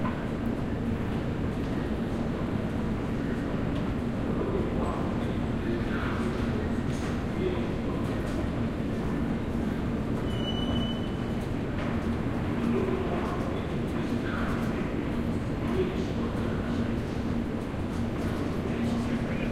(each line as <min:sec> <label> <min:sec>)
0:03.0 people 0:17.3